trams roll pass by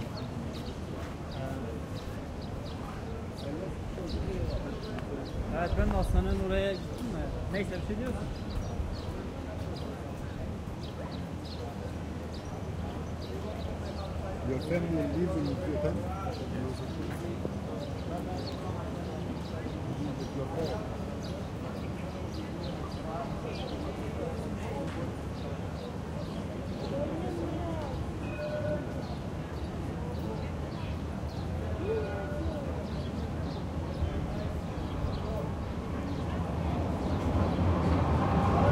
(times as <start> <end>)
33.7 38.7